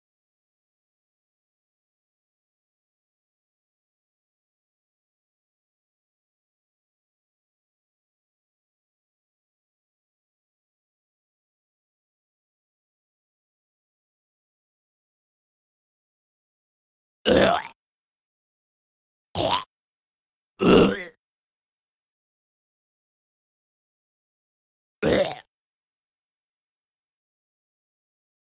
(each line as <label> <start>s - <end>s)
Single groaning zombie 17.3s - 17.8s
Single groaning zombie 19.4s - 19.7s
Single groaning zombie 20.6s - 21.2s
Single groaning zombie 25.0s - 25.5s